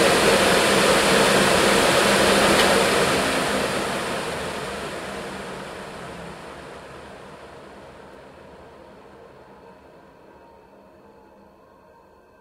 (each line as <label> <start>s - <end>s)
Fume extractor turned on, running in it's own pace 0.0s - 8.1s